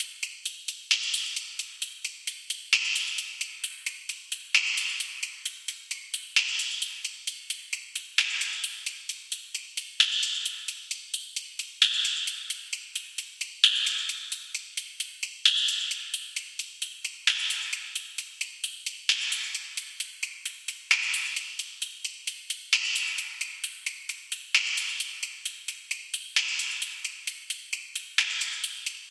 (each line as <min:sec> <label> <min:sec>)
0:00.0 DRUMS ONEDROP PROCESSED 0:29.1